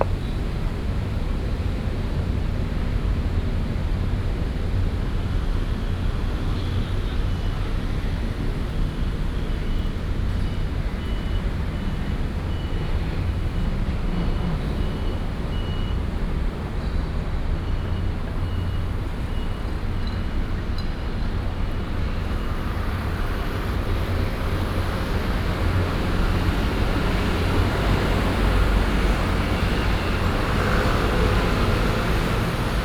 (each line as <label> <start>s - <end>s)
TV satellite trucks noise 0.0s - 1.6s
TV satellite trucks noise 8.2s - 32.8s